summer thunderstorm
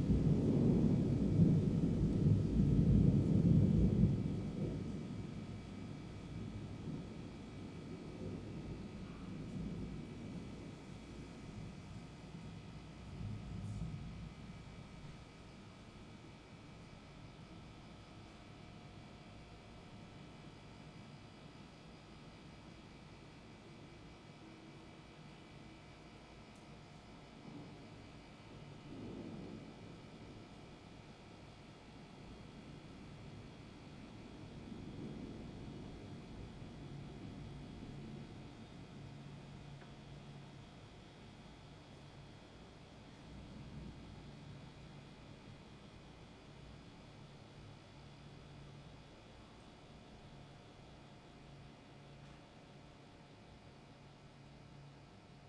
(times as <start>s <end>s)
0.0s 16.6s, 27.2s 49.3s